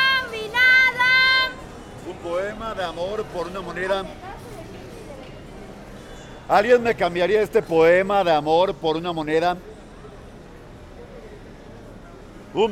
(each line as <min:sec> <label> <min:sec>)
0:00.0 d'innombrables marchands ambulants 0:07.4